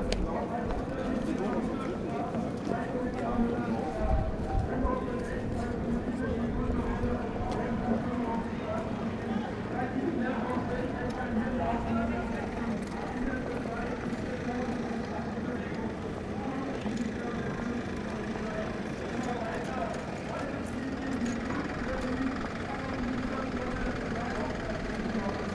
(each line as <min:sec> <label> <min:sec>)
0:00.0 kurdish demonstration against arms transfer to turkey 0:25.5
0:00.0 police cars 0:25.5